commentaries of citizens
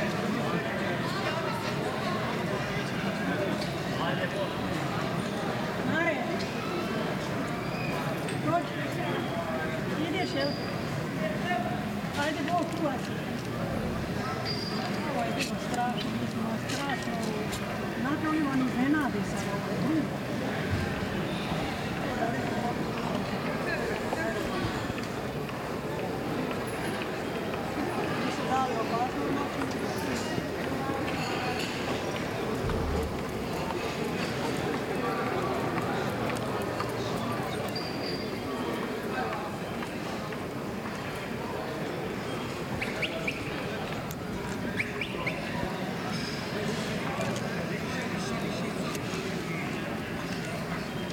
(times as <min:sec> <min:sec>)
0:00.0 0:37.7